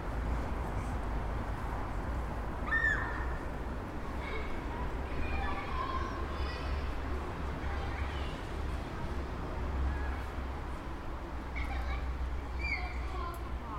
2.6s Children playing in the snow 13.7s

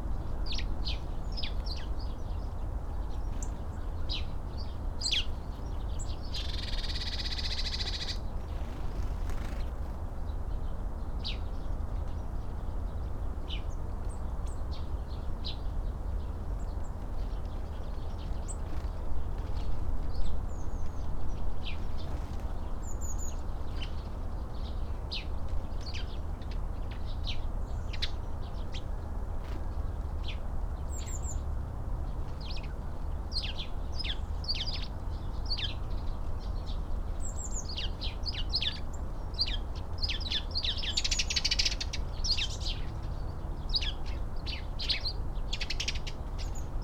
3.1s blackbird 9.8s
3.1s blue tit 9.8s
13.5s blue tit 31.4s
32.3s blue tit 46.8s

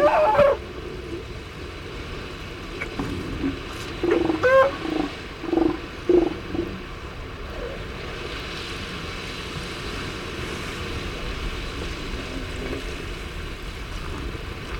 0.0s peregrine calls 0.6s
0.0s elephant seals mothers and pups loafing on a rocky outcrop 14.7s
2.8s peregrine calls 6.9s

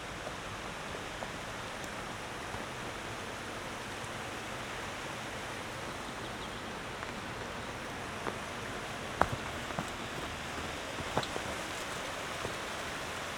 0.0s hum of the river power station 13.3s
0.0s water of a little creek runs down in cascades 13.3s

